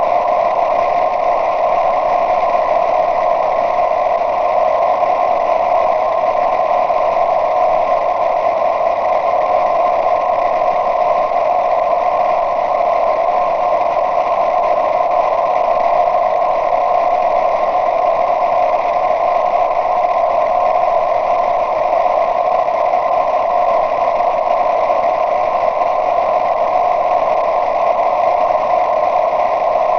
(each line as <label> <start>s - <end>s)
static 0.0s - 29.9s